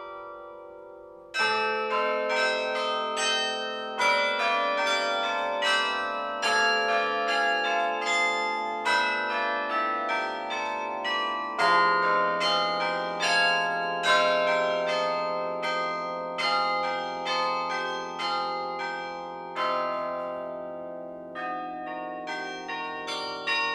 Carillon 0:00.0 - 0:23.7

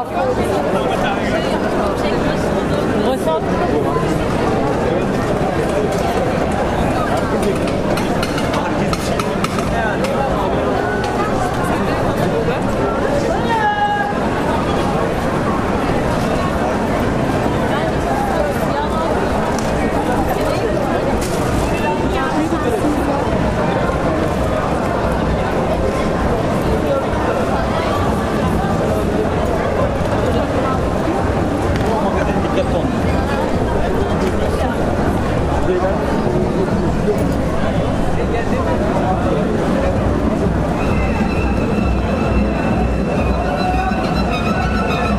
crowds 0:00.0 - 0:45.1

